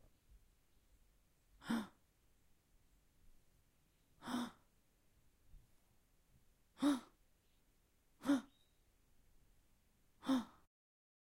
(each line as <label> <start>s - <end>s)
female voice gasping multiple times 4.2s - 4.6s
female voice gasping multiple times 6.8s - 7.2s
female voice gasping multiple times 8.2s - 8.5s
female voice gasping multiple times 10.2s - 10.7s